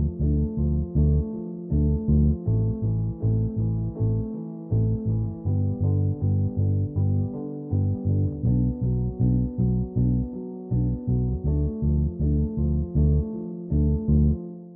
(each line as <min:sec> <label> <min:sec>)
0:00.0 bass 0:14.7
0:00.0 piano 0:14.7